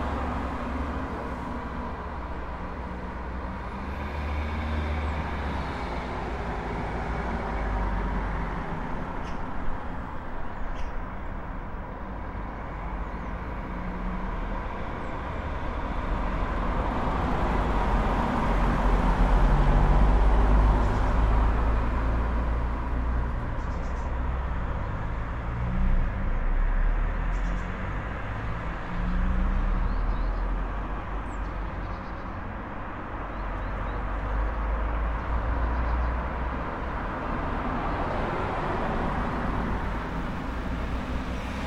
cars 0.0 - 41.6
birdsong 10.4 - 11.1
birdsong 23.5 - 25.0
birdsong 27.2 - 28.0
birdsong 29.0 - 32.5
birdsong 33.1 - 36.3

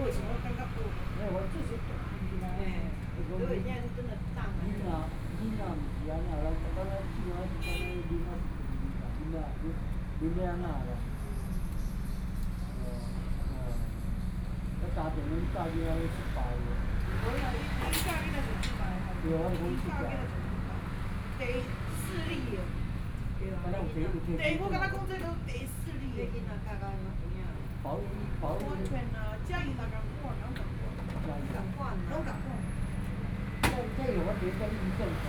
Traffic Sound 0.0 - 35.2

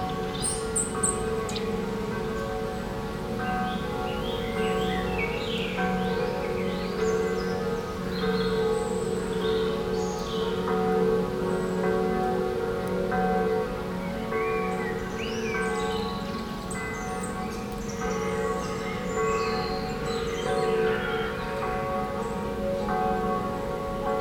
birds singing 0.0 - 12.4
Faraway bells 0.0 - 24.2
birds singing 13.3 - 23.3

